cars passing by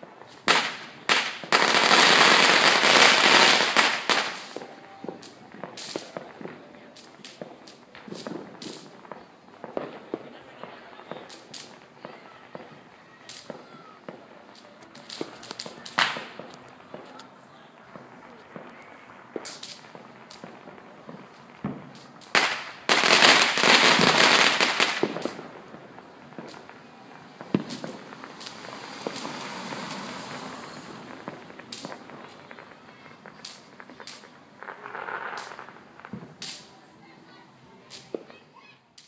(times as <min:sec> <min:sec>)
0:22.8 0:36.6